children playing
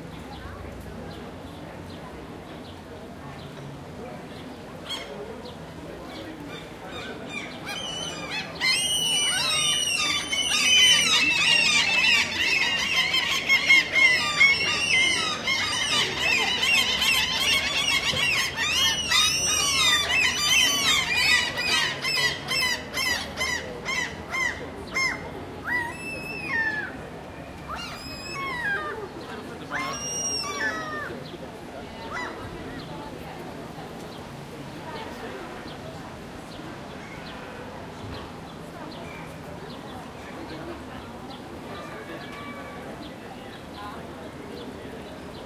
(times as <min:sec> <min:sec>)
0:06.2 0:33.9, 0:36.6 0:44.8